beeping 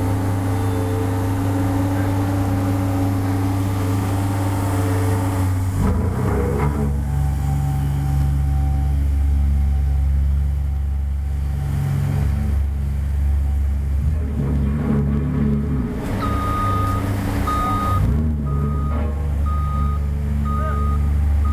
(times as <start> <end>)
16.2 21.5